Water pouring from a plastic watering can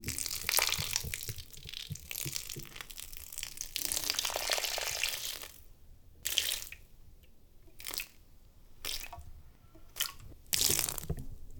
0.0s 5.6s, 8.8s 11.5s

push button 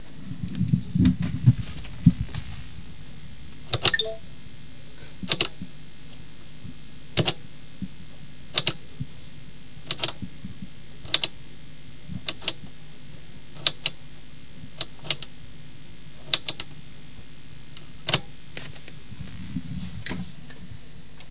3.7s 4.2s, 5.3s 5.5s, 8.6s 8.8s, 9.9s 10.2s, 11.1s 11.3s, 12.3s 12.6s, 13.6s 14.0s, 14.8s 15.3s, 16.3s 16.7s

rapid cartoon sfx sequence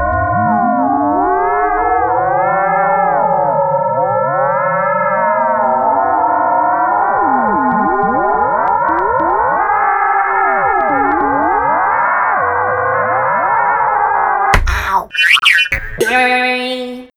14.6s 17.0s

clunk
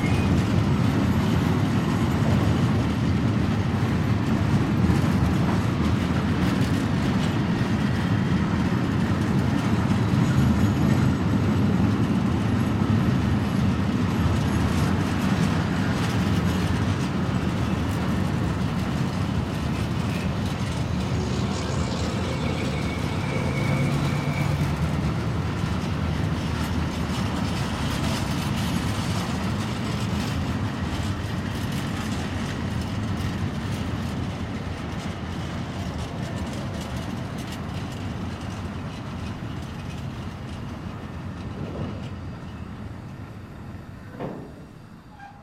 44.0s 45.4s

